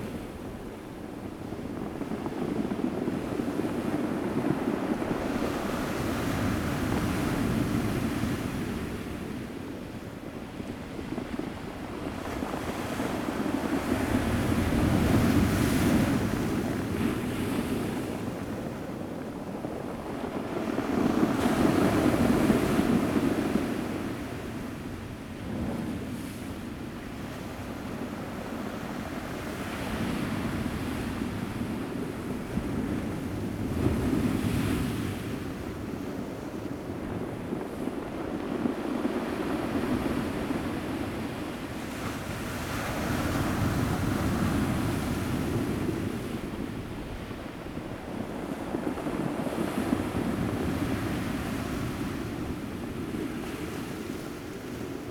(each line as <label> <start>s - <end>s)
waves 0.0s - 55.1s